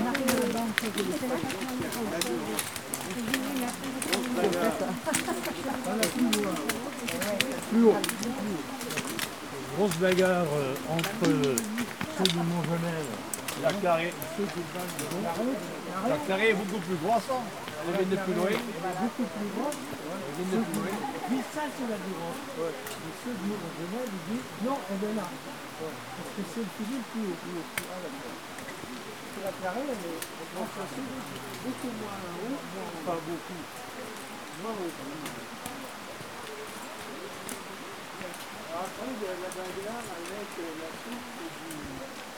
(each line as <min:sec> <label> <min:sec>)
0:00.0 group of hikers go up 0:42.3